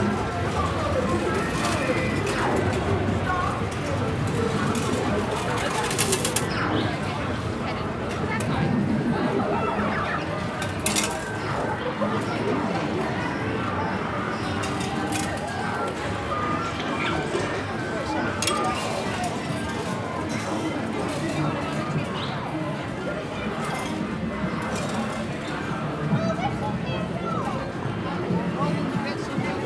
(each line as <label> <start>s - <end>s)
arcade machines 0.0s - 22.0s